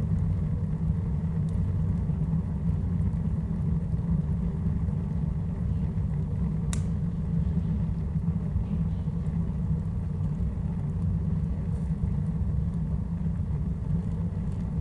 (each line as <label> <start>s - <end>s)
fire in stove 0.0s - 14.8s